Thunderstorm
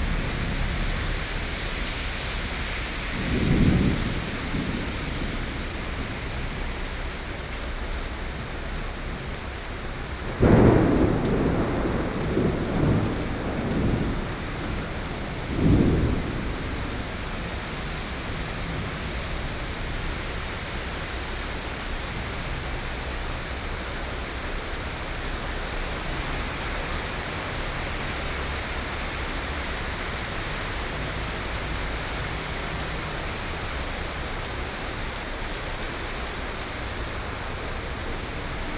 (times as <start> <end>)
0.0 7.8, 9.1 22.4